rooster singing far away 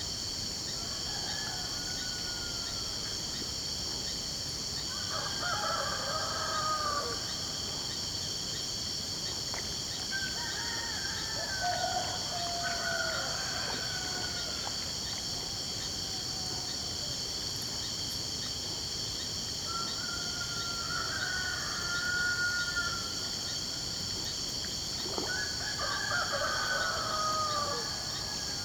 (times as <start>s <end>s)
0.8s 3.0s, 4.9s 7.3s, 10.1s 14.6s, 19.7s 23.2s, 25.3s 28.6s